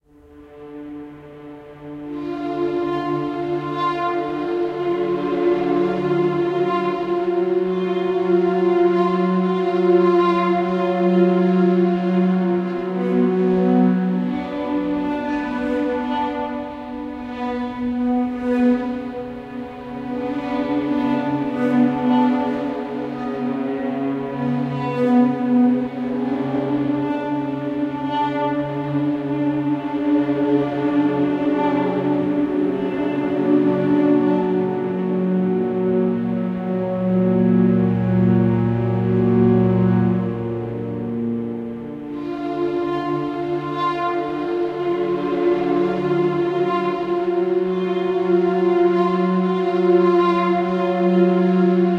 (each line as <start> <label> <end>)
0.0 strings 51.9